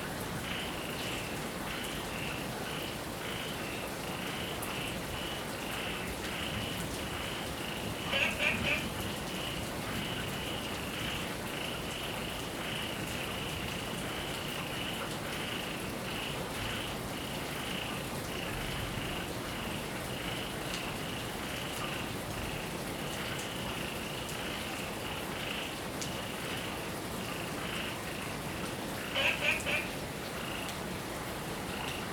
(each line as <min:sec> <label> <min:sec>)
0:00.0 Heavy rain 0:32.1
0:08.0 Frog chirping 0:08.9
0:29.0 Frog chirping 0:30.7